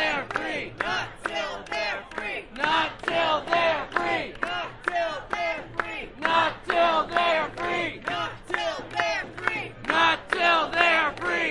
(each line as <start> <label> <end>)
0.0 chant 11.5